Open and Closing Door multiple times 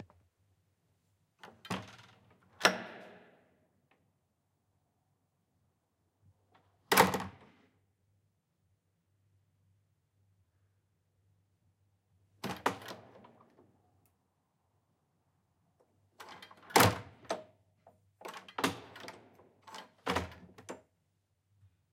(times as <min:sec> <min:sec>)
0:01.4 0:04.0, 0:06.4 0:07.7, 0:12.4 0:13.8, 0:16.0 0:21.0